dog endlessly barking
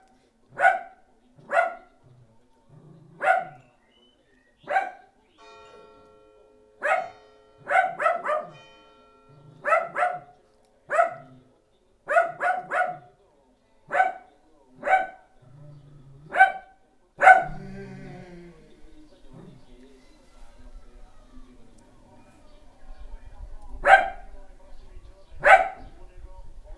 0:00.0 0:02.0, 0:03.1 0:03.6, 0:04.6 0:05.1, 0:06.8 0:08.6, 0:09.4 0:11.4, 0:12.1 0:13.1, 0:13.9 0:15.3, 0:16.2 0:17.6, 0:23.8 0:24.3, 0:25.4 0:25.9

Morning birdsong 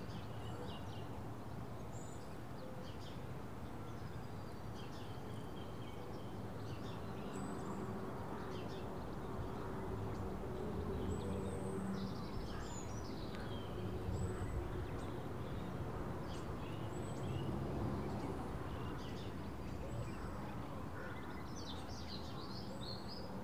0:04.0 0:20.3

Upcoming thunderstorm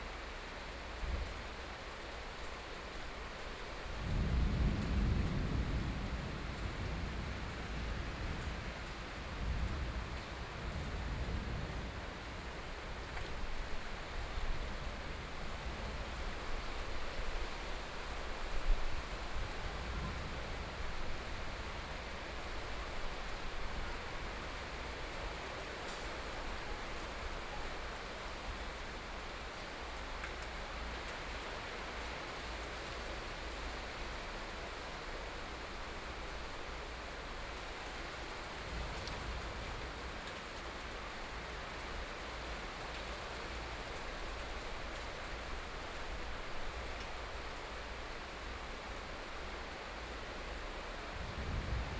0:03.8 0:27.9, 0:51.0 0:51.9

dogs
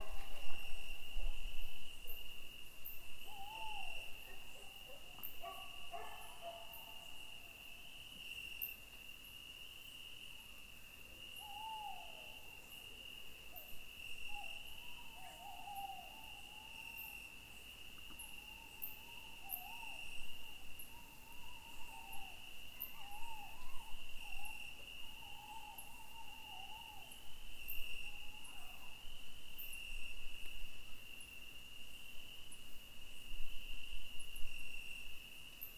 0:04.2 0:07.0, 0:28.4 0:29.0

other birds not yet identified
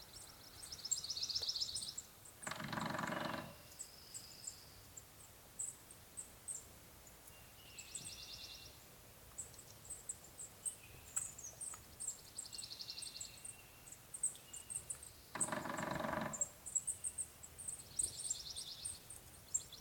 0:02.4 0:03.8, 0:14.8 0:16.8

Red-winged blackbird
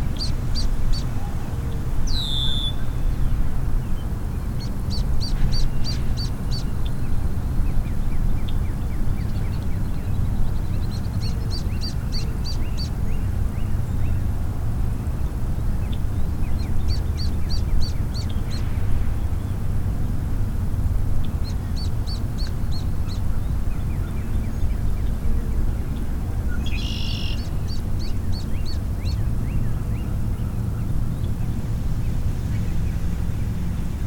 0:04.5 0:14.2, 0:15.8 0:18.7, 0:26.5 0:31.5

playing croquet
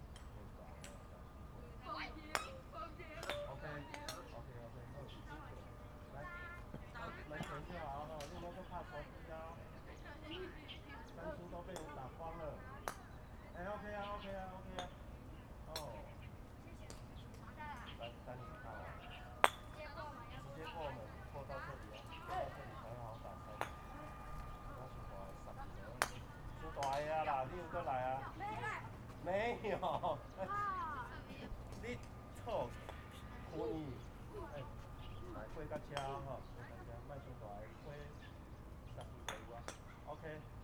0:16.7 0:37.4

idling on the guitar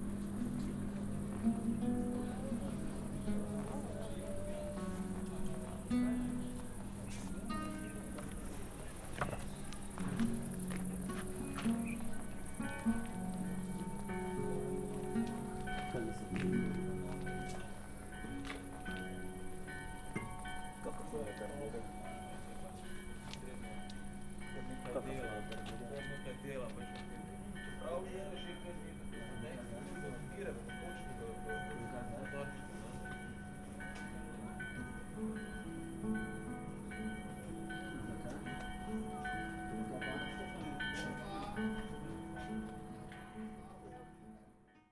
0:00.0 0:21.1

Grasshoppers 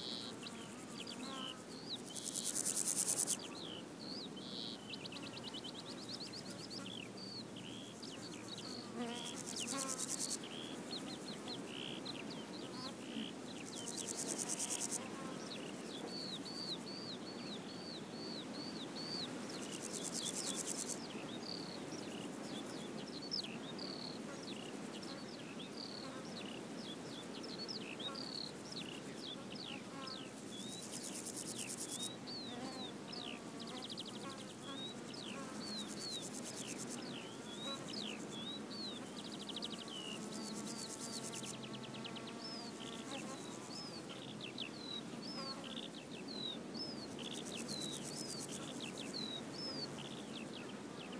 0:00.1 0:03.5, 0:07.6 0:11.8, 0:13.5 0:16.0, 0:19.5 0:21.1, 0:30.0 0:32.1, 0:33.6 0:41.7, 0:46.4 0:50.4

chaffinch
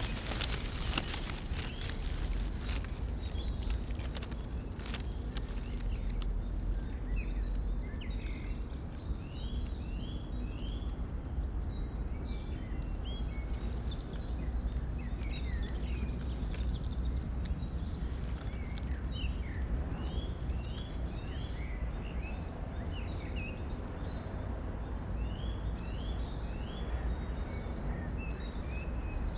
0:00.0 0:07.1

